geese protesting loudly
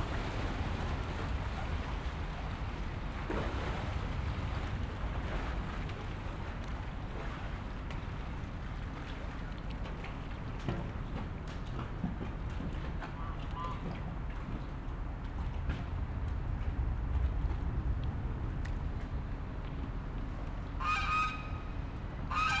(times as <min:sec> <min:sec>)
0:20.8 0:21.6, 0:22.3 0:22.6